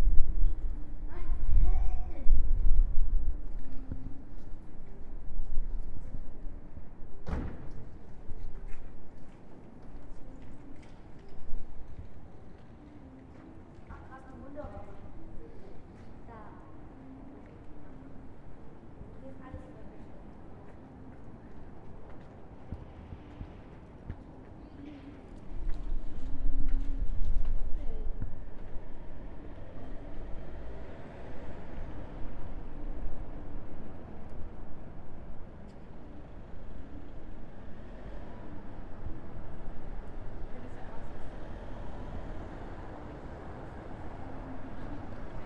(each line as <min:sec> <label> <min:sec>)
0:11.9 cars 0:45.4